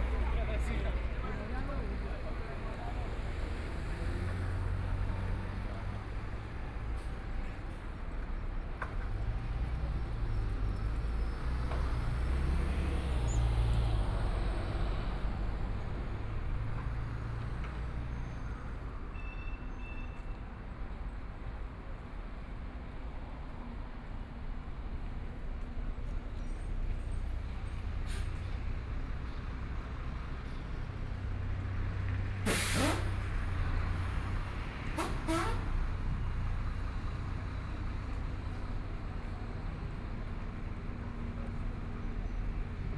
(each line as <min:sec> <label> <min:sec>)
0:00.0 Traffic Sound 0:42.9
0:32.4 Construction Sound 0:33.6